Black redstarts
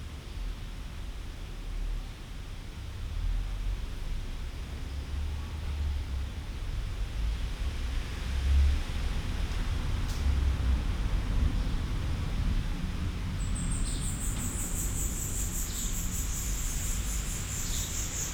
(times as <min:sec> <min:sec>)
0:13.4 0:18.3